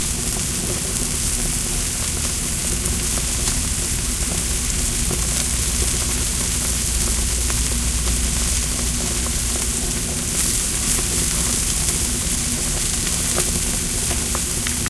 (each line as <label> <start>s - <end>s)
grill steak3 0.0s - 14.8s